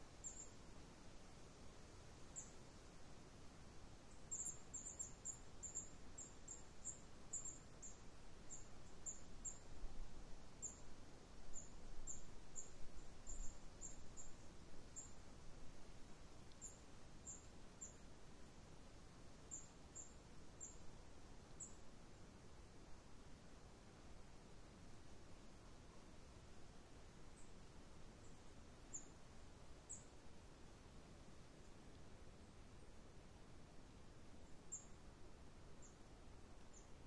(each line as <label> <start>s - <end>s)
Forest birds 0.0s - 0.7s
light breeze 0.0s - 37.0s
Forest birds 2.3s - 2.8s
Forest birds 3.9s - 18.2s
Forest birds 19.4s - 21.9s
Forest birds 27.3s - 30.9s
Forest birds 34.4s - 35.2s
Forest birds 35.8s - 37.0s